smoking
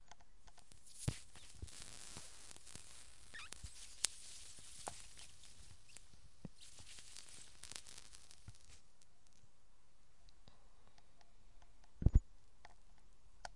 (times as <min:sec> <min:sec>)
0:00.5 0:09.4